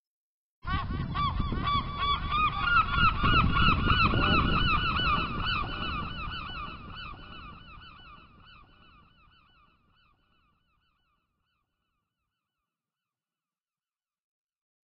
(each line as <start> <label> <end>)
0.6 seagull 12.6
0.7 ocean 10.0